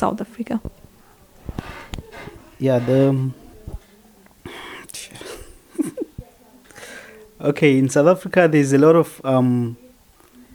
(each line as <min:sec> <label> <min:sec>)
0:00.0 interviews 0:09.8